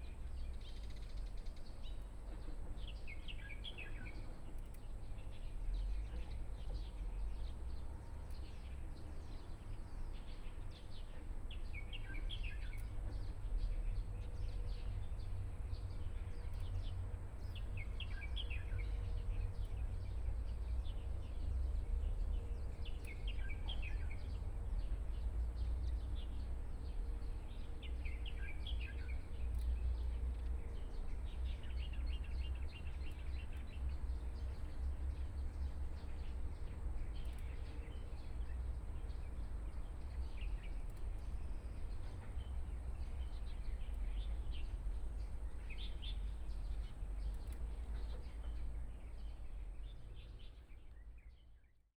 Birdsong 15.8 - 51.8

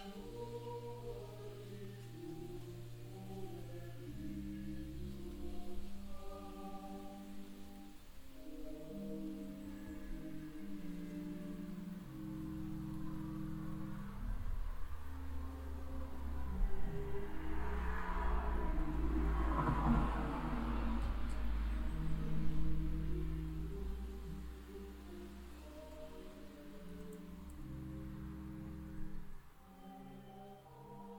organ sound from inside the church 0.0 - 17.1
distant sound of the church choir 0.0 - 31.1
train passing by 12.8 - 24.9
organ sound from inside the church 20.6 - 31.1

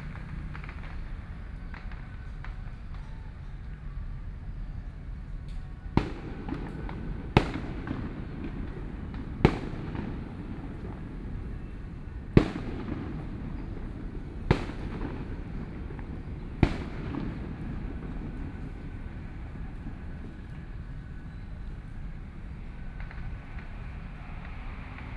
Traffic Sound 0.0 - 25.1
Fireworks sound 5.8 - 21.4

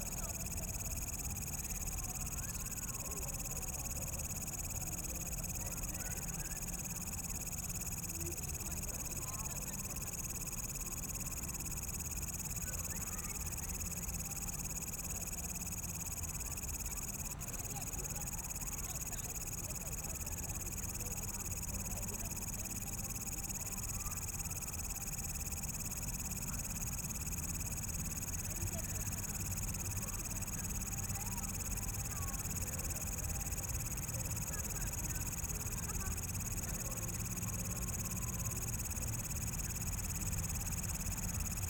Insects 0.0 - 41.6
People walking in the park 0.0 - 41.6

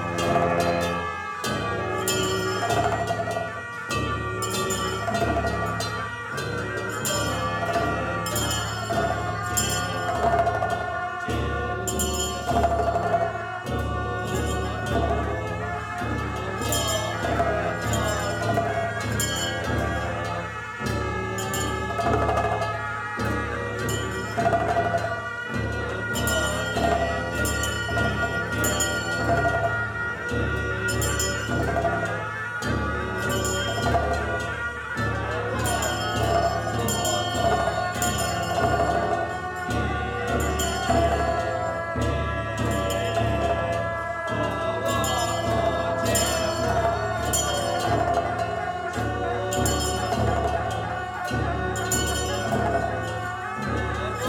Rimdro(puja) 0.0 - 54.2

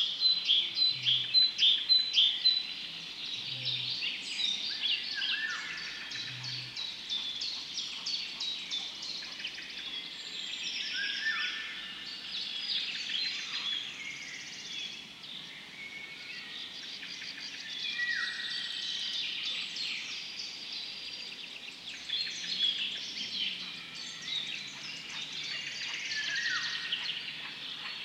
birds 0.0 - 28.0

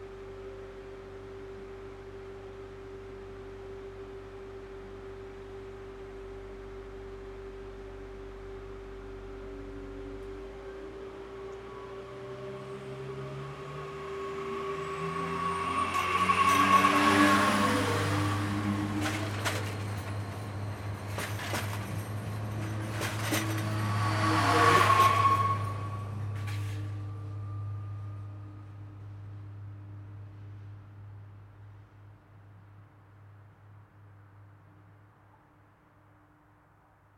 train departure 8.6 - 30.1

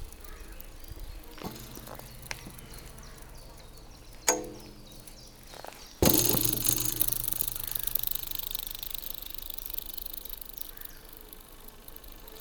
metal bar 1.3 - 8.5

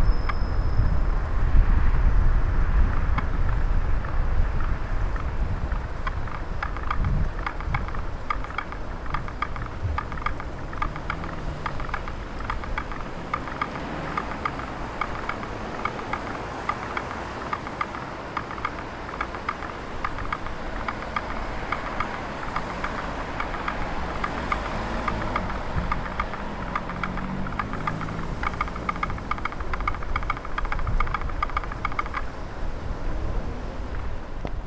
reggae traffic light 2.0 - 34.6

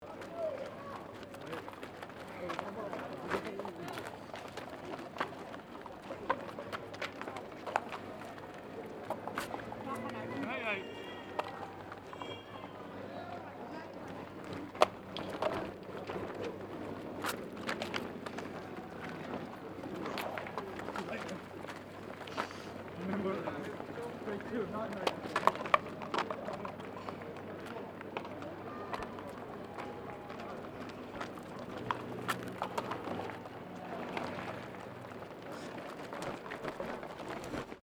feet of the runners 0.0 - 37.8
marathon runners crushing paper cups 0.0 - 37.8

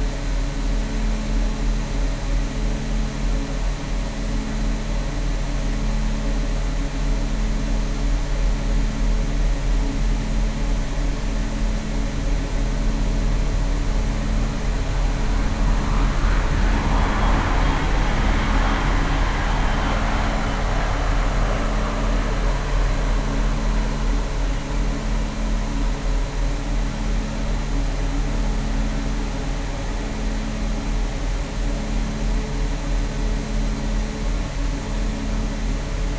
photovoltaic power station hum 5.6 - 30.8

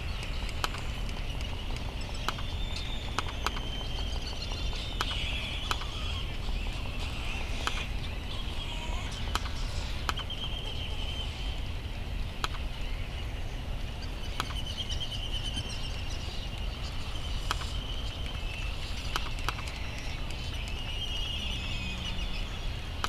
laysan albatross calls and bill clapperings 0.2 - 11.6
bonin petrel and white tern calls 0.7 - 11.6
laysan albatross calls and bill clapperings 14.0 - 23.0

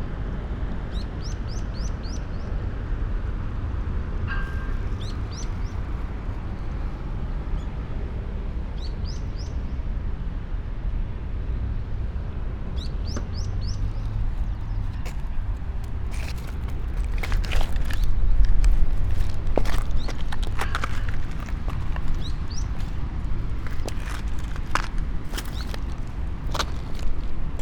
walk, sand, stones, dry grass 13.6 - 27.6

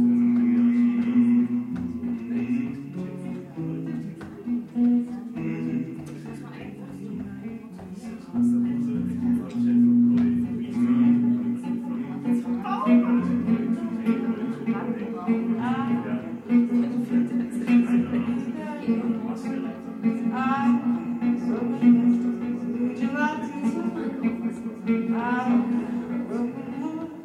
guitar 0.0 - 27.2
jam session 0.0 - 27.2

